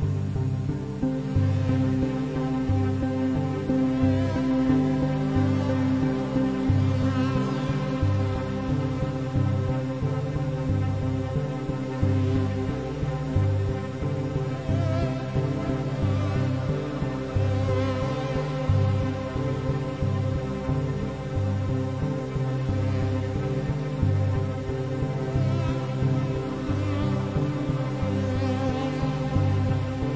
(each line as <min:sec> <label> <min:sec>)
0:00.0 minimalistic low-end synthesizers 0:30.1